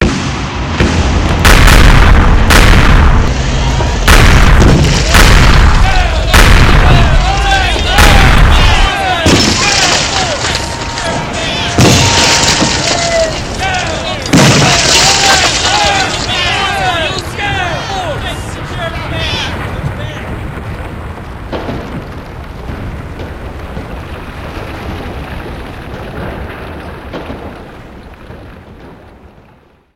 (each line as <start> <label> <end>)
0.0 War 29.7
0.0 explosion 29.9
1.3 started shooting people 29.0
3.0 crowd noise 27.0